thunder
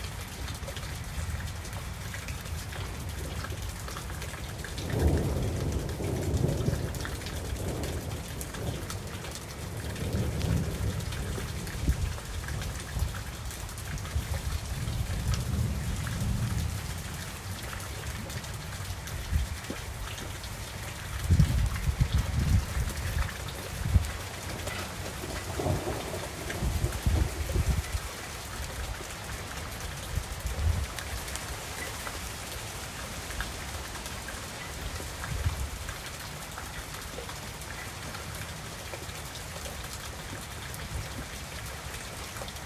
4.8s 8.9s, 25.2s 27.8s

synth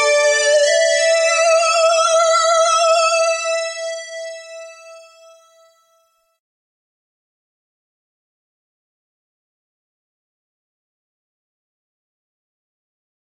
0.0s 6.0s

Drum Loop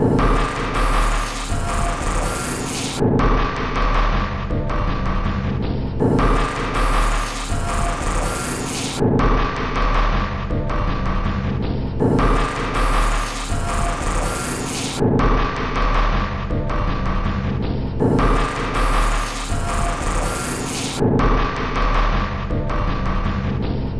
0.0s 3.0s, 6.0s 9.0s, 12.0s 15.0s, 18.0s 21.0s

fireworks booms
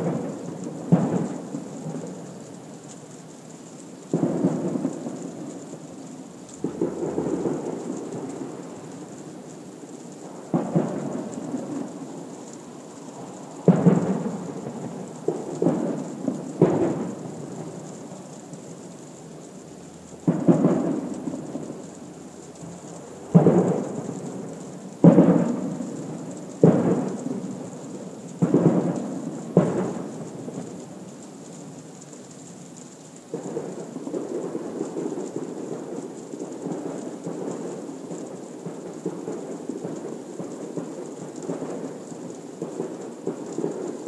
0.0s 2.1s, 4.1s 5.5s, 6.6s 9.1s, 10.2s 12.0s, 13.6s 17.9s, 20.2s 21.8s, 23.2s 30.8s

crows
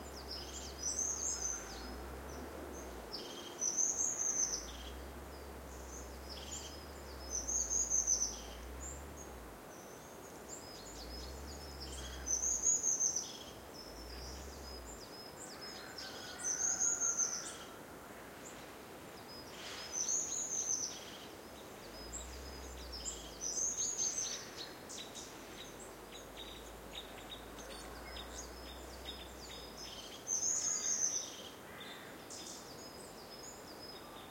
1.4s 2.0s, 15.6s 18.4s

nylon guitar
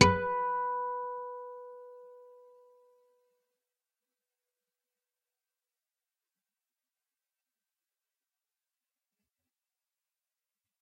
0.0s 2.0s

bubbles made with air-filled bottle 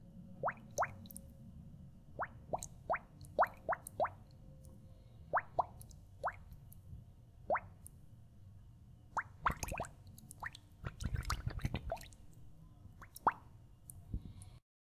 9.4s 12.1s

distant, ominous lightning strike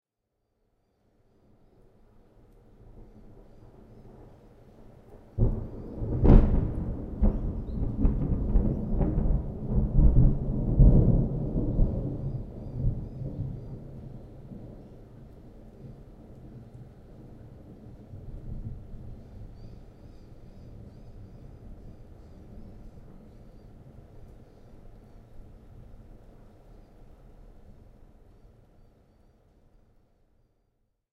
5.4s 13.9s

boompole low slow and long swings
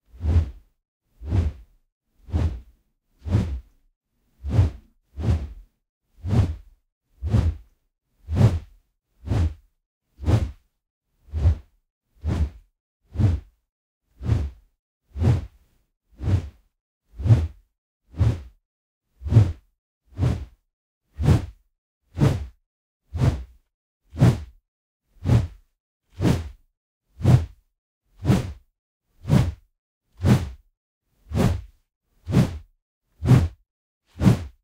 0.2s 0.6s

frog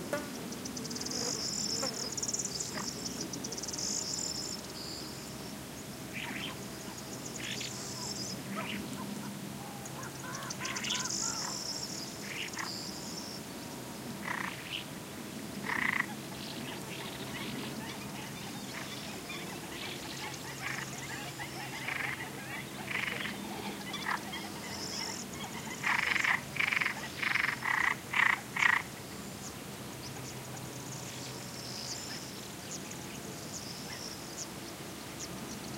9.7s 11.6s, 12.2s 12.8s, 14.2s 14.9s, 15.6s 16.2s, 17.0s 28.9s

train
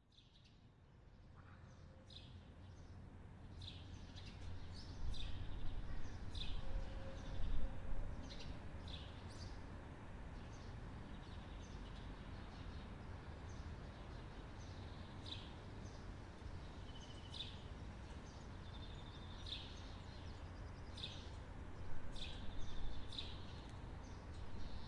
4.4s 23.3s

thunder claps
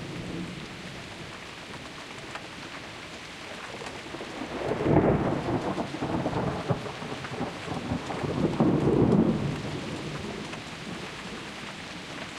4.4s 11.2s

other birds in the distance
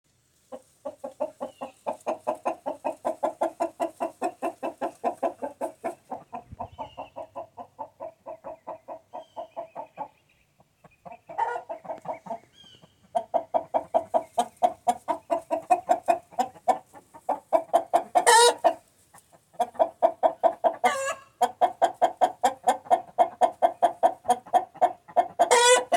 0.8s 3.4s, 4.2s 16.4s

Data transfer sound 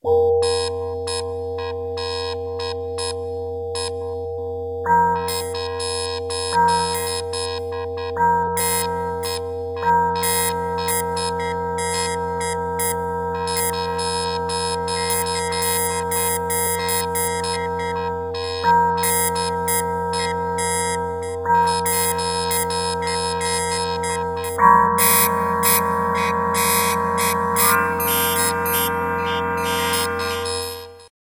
23.5s 31.1s

